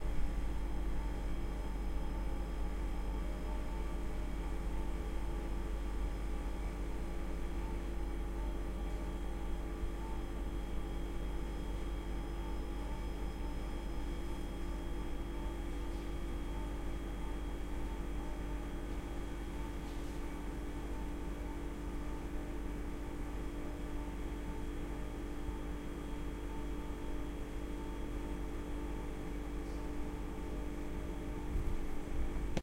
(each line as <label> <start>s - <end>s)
stationary fridge 0.0s - 32.6s